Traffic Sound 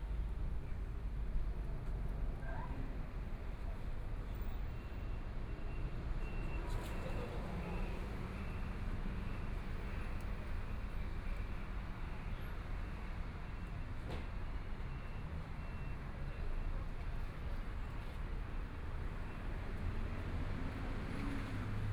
0:05.9 0:21.9

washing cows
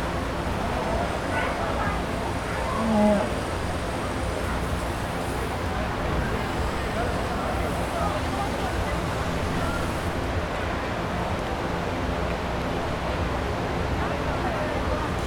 0:02.3 0:05.5

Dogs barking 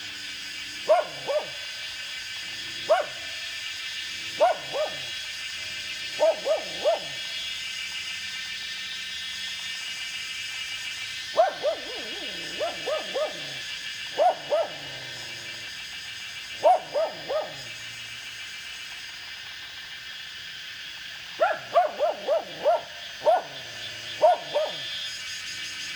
0:00.0 0:08.0, 0:10.7 0:18.3, 0:21.1 0:25.9

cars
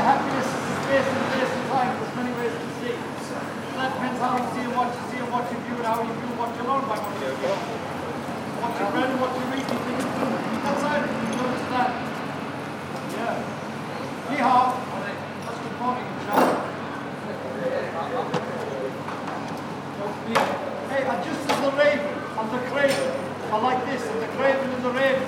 0:00.0 0:17.2

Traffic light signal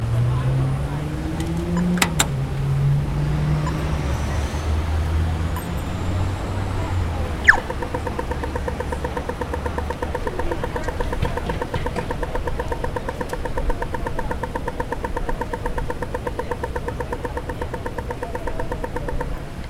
0:03.6 0:04.4, 0:05.4 0:19.6

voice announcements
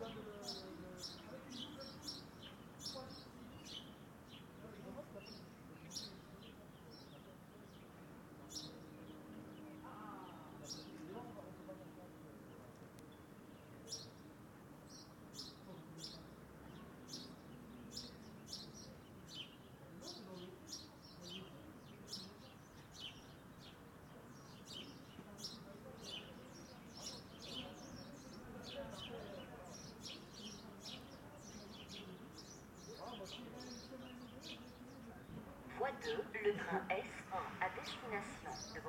0:35.7 0:38.8

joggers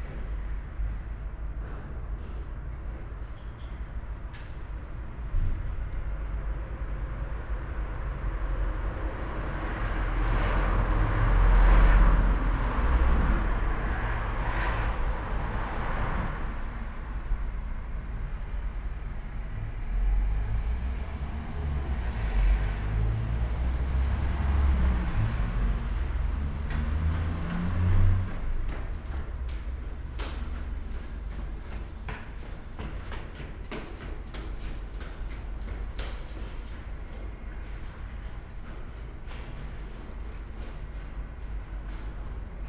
0:27.9 0:42.6

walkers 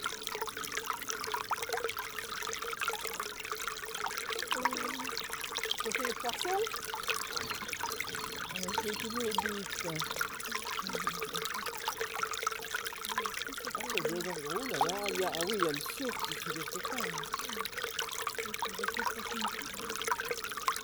0:05.9 0:12.3, 0:13.1 0:20.2

